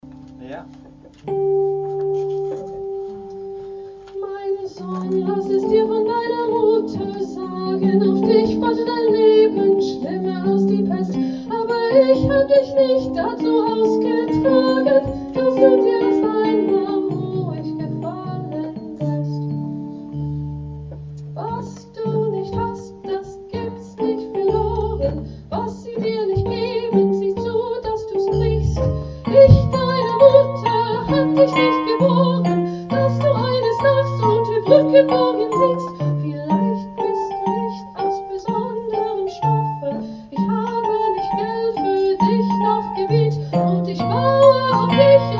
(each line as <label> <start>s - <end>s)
singer 21.4s - 45.3s